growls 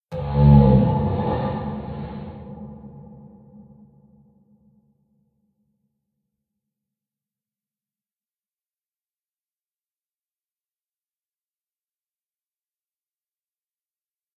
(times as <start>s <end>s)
0.1s 3.4s